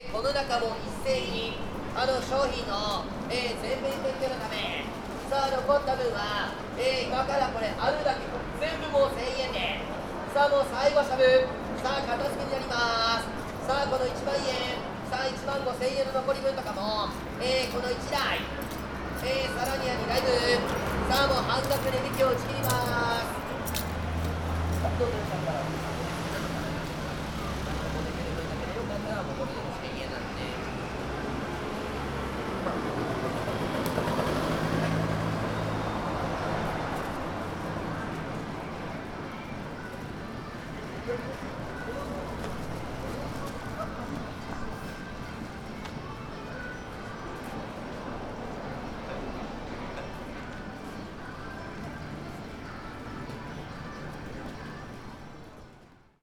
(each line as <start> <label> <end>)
0.0 customer 56.2
12.0 watch vendor 30.8